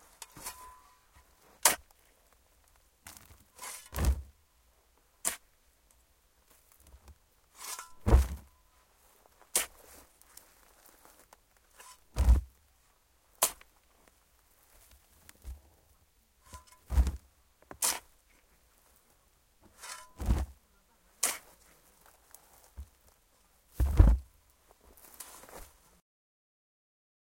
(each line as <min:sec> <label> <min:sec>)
0:00.0 spade picking up soil 0:02.0
0:00.0 soil falling to the bottom of the hole 0:04.4
0:03.1 spade picking up soil 0:04.4
0:05.2 soil falling to the bottom of the hole 0:12.6
0:05.2 spade picking up soil 0:05.5
0:06.8 spade picking up soil 0:08.6
0:09.4 spade picking up soil 0:10.4
0:11.7 spade picking up soil 0:12.6
0:13.4 spade picking up soil 0:13.7
0:16.4 spade picking up soil 0:18.4
0:16.5 soil falling to the bottom of the hole 0:19.0
0:19.6 soil falling to the bottom of the hole 0:20.6
0:19.6 spade picking up soil 0:20.6
0:21.2 spade picking up soil 0:23.0
0:21.2 soil falling to the bottom of the hole 0:25.8
0:23.8 spade picking up soil 0:24.3
0:25.0 spade picking up soil 0:25.7